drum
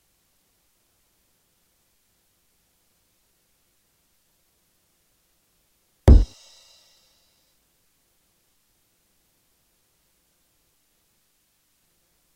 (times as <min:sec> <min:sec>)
0:06.1 0:06.4